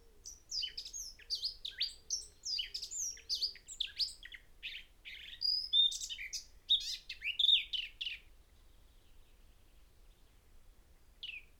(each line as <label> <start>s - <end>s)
blackbird 0.0s - 8.2s
blackcap song 11.2s - 11.5s